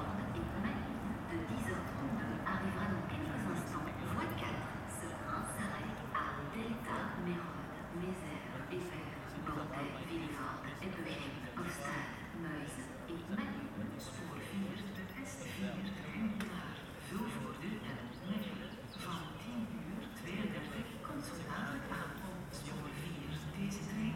Trains passing by 0:00.0 - 0:14.1

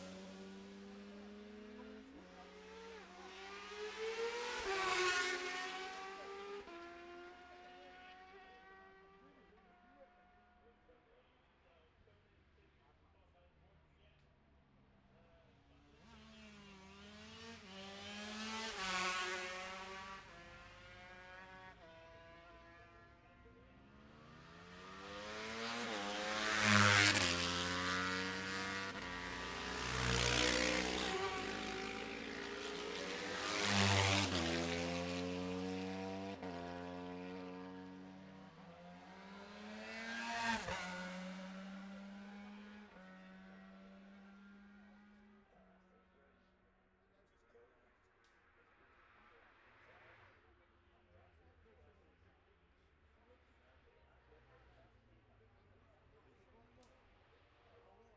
ultra-lightweights race 0:15.1 - 0:46.5

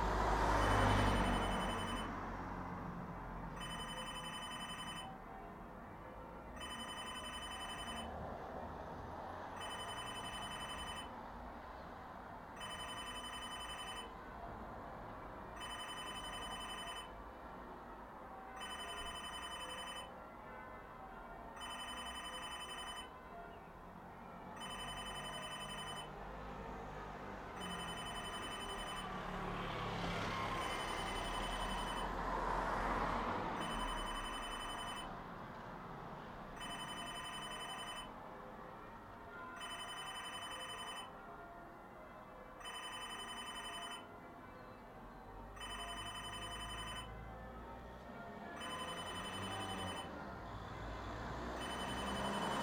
traffic on the road 0:00.0 - 0:52.6
telephone booth bell 0:00.7 - 0:02.1
telephone booth bell 0:03.6 - 0:05.1
telephone booth bell 0:06.6 - 0:08.1
telephone booth bell 0:09.6 - 0:11.1
telephone booth bell 0:12.6 - 0:14.1
telephone booth bell 0:15.6 - 0:17.1
telephone booth bell 0:18.6 - 0:20.1
telephone booth bell 0:21.6 - 0:23.1
telephone booth bell 0:24.6 - 0:26.1
telephone booth bell 0:27.6 - 0:29.1
telephone booth bell 0:30.6 - 0:32.0
telephone booth bell 0:33.6 - 0:35.1
telephone booth bell 0:36.6 - 0:38.1
telephone booth bell 0:39.6 - 0:41.1
telephone booth bell 0:42.6 - 0:44.0
telephone booth bell 0:45.6 - 0:47.1
telephone booth bell 0:48.6 - 0:50.1
telephone booth bell 0:51.6 - 0:52.6

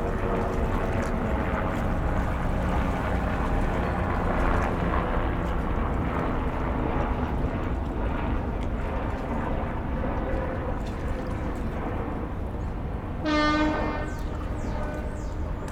helicopters passing by 0:00.0 - 0:15.7
water 0:00.0 - 0:15.7

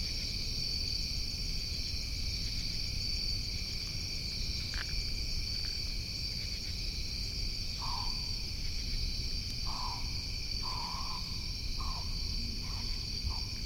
Crickets 0:00.0 - 0:13.6
pine barrens tree frog can be faintly heard honking 0:09.6 - 0:13.6

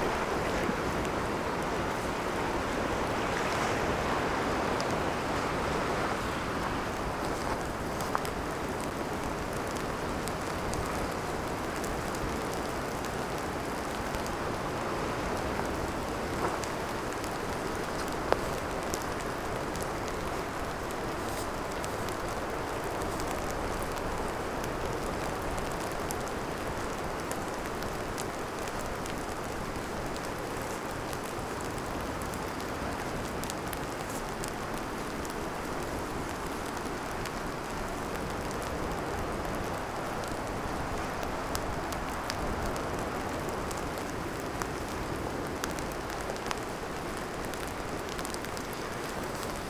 Sea 0:00.0 - 0:49.6
Soft rain falling on soft dirt 0:00.0 - 0:49.6
Wind 0:00.0 - 0:49.6

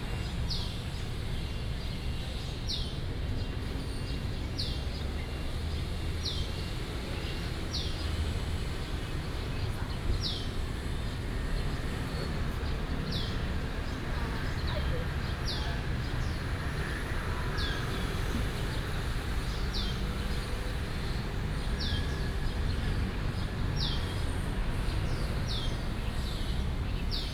traffic sound 0:04.9 - 0:27.3

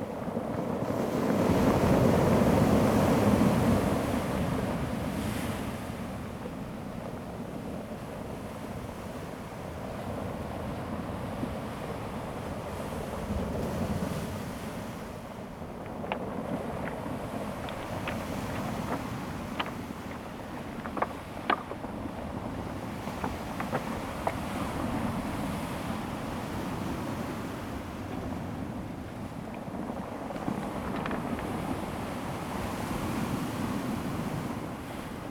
waves 0:00.0 - 0:35.3

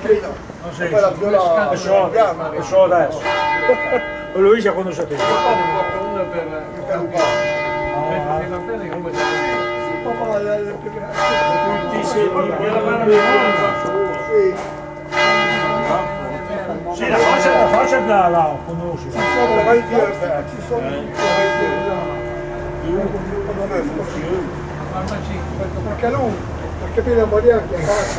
old people (i vècc) speaking dialects 0:00.0 - 0:22.2
Church bells 0:00.0 - 0:27.7
guests at the desk 0:00.0 - 0:28.1

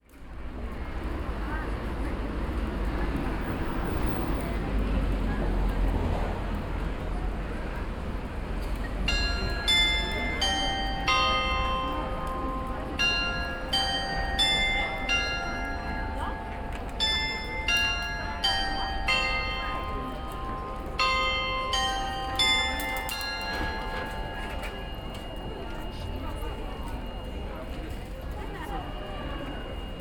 bells 0:08.6 - 0:30.0

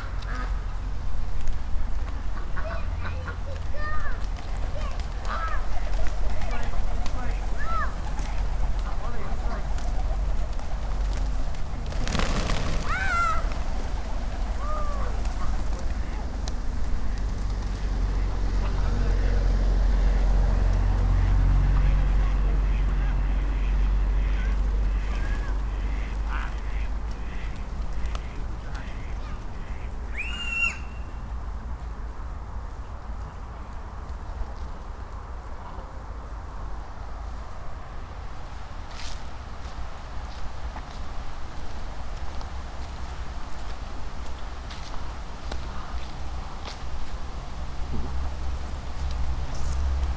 Doves fluttering 0:00.0 - 0:19.6

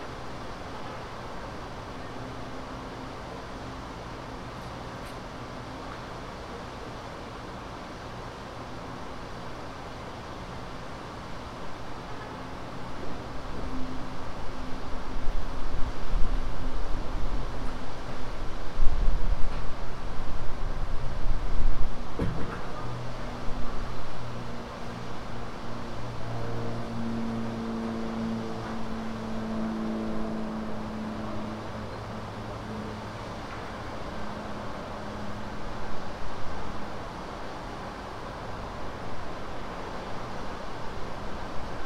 subtle wind sounds 0:00.0 - 0:41.8
muffled sounds from the condo 0:21.8 - 0:24.4

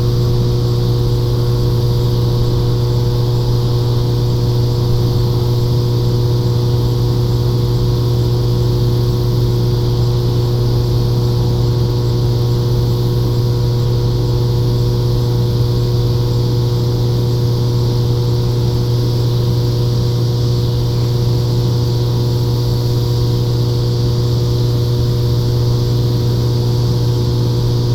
Hum from sub-station 0:00.0 - 0:27.9
cicada 0:00.0 - 0:27.9

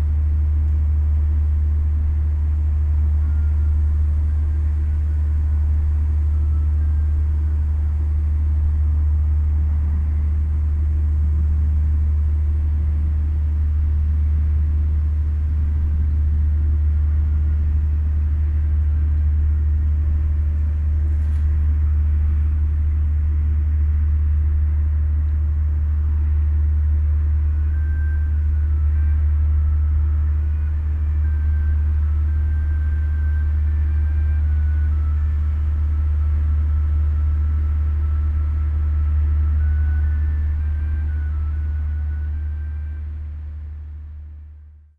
traffic sounds 0:00.0 - 0:44.5
heavy drone of a passenger ship 0:00.0 - 0:44.9

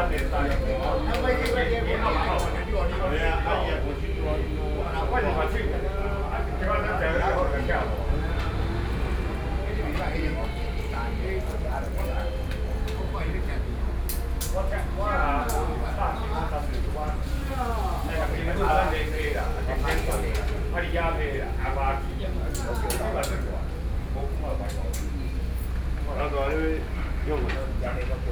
traffic noise 0:00.0 - 0:22.5

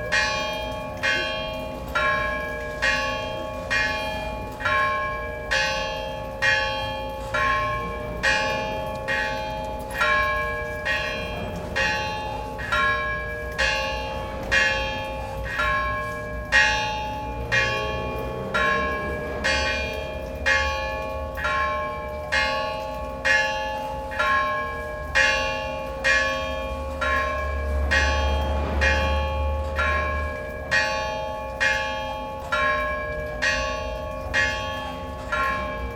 bells are ringing 0:00.0 - 0:35.9

